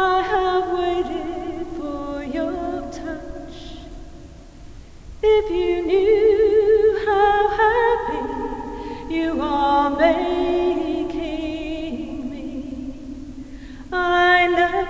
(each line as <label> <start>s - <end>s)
visitor singing 0.0s - 4.0s
visitor singing 5.2s - 14.8s